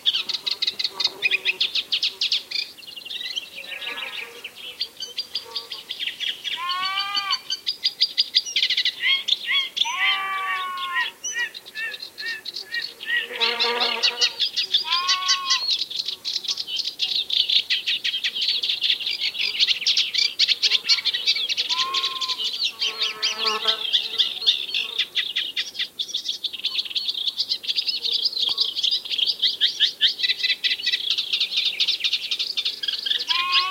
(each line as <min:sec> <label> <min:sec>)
0:00.0 Reed Warblers singing 0:33.7
0:06.6 sheep 0:07.4
0:09.8 sheep 0:11.1
0:12.9 bees 0:14.4
0:14.8 sheep 0:15.7
0:21.6 sheep 0:22.5
0:33.2 sheep 0:33.7